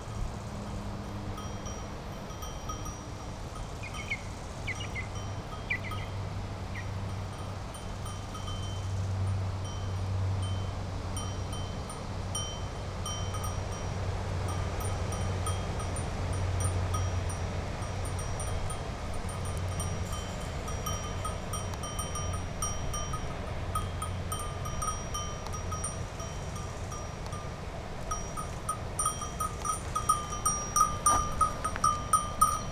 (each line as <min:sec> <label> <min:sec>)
0:14.4 animals walking near the microphone 0:32.7